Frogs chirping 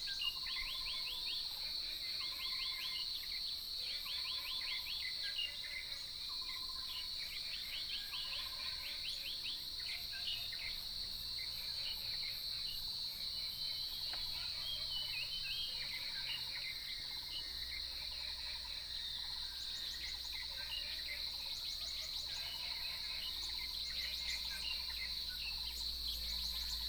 6.4 26.8

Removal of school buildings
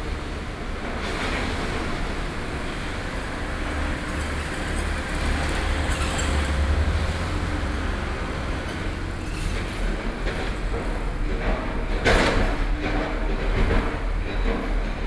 2.1 12.3

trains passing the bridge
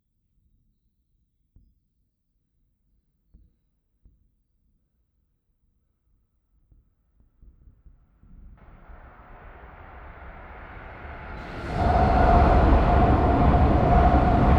10.2 14.5

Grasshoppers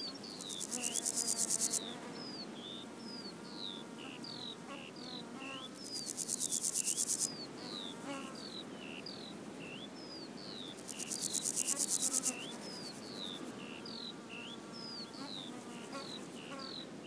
0.2 1.8, 5.7 7.3, 10.8 13.4

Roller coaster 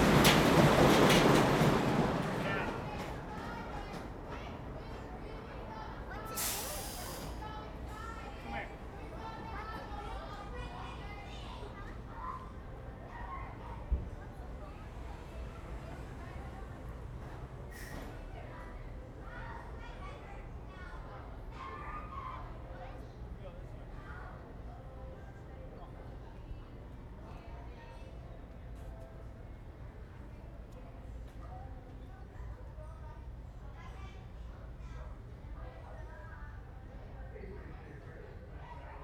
0.0 6.6

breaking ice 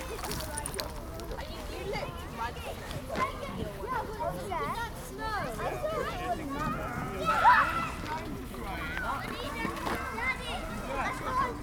0.0 1.1

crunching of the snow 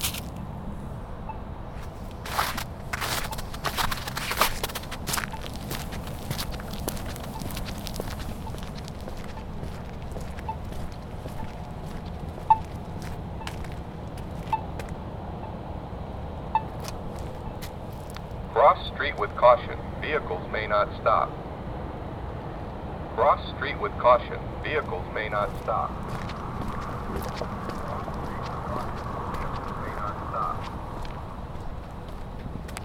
0.0 0.4, 1.8 14.9, 16.8 18.4, 25.4 32.8

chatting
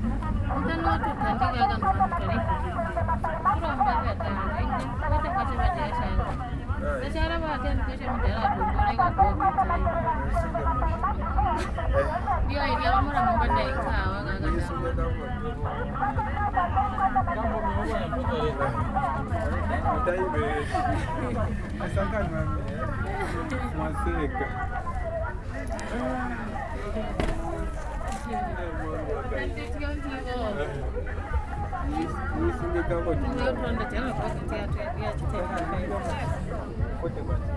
15.1 27.2

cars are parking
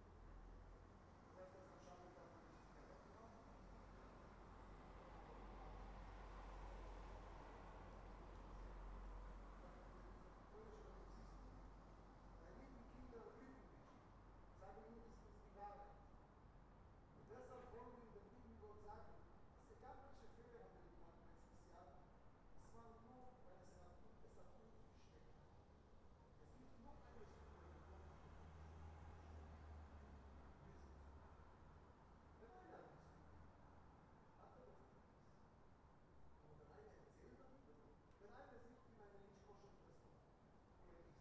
27.4 32.4

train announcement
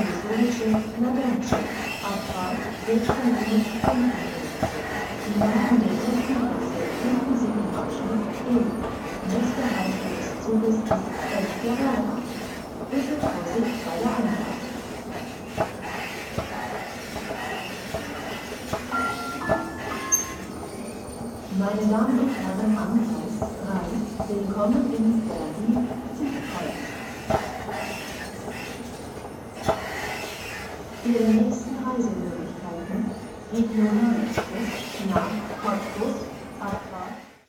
0.0 14.8, 18.8 27.0

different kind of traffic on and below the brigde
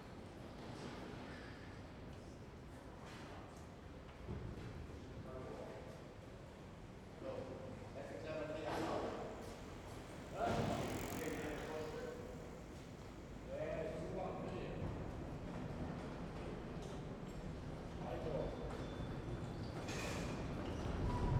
8.8 16.2

